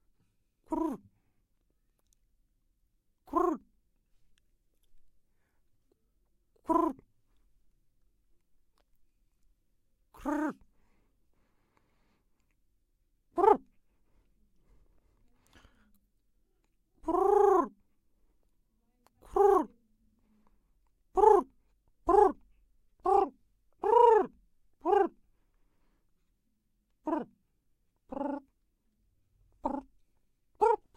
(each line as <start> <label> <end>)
0.6 pigeon, made by a human 2.1
3.2 pigeon, made by a human 5.1
5.9 pigeon, made by a human 7.5
10.1 pigeon, made by a human 11.0
13.3 pigeon, made by a human 16.0
16.6 pigeon, made by a human 25.3
27.0 pigeon, made by a human 28.7
29.3 pigeon, made by a human 30.9